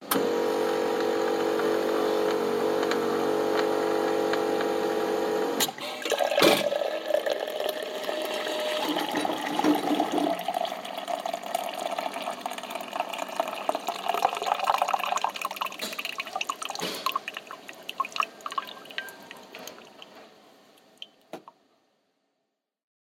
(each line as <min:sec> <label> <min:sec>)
0:00.0 Coffee machine brewing 0:21.4